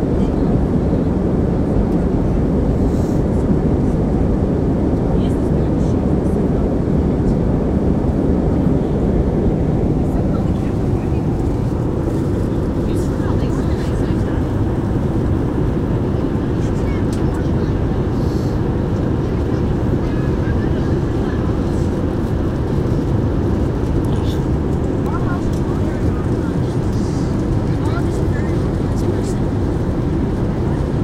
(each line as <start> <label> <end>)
0.0 Airplane Interior 31.0
5.0 chatter 31.0